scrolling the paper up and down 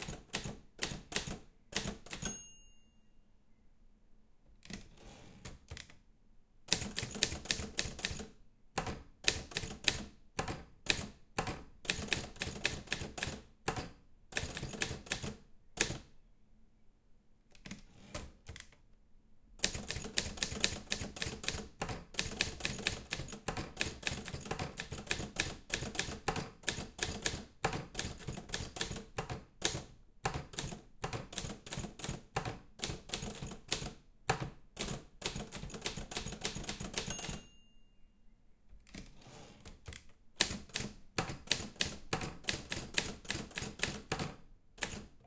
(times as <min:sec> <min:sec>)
0:04.7 0:06.0, 0:17.5 0:18.8, 0:38.8 0:41.7